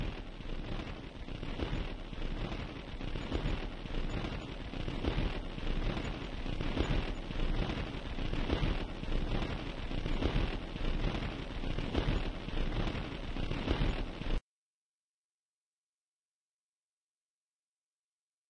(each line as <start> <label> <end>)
0.0 endgrooves from vinyl lp's 14.4